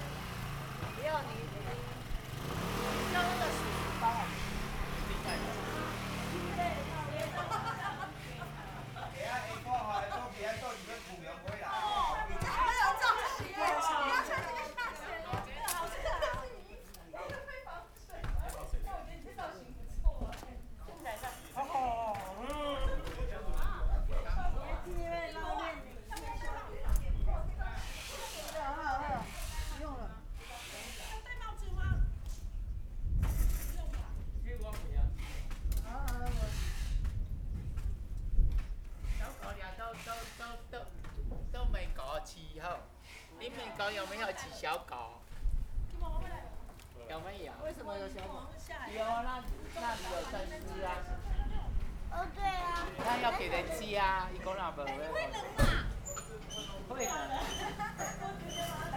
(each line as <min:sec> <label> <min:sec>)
0:00.0 Traffic Sound 0:13.5
0:00.0 Dialogue between people 0:58.9
0:46.6 Traffic Sound 0:58.9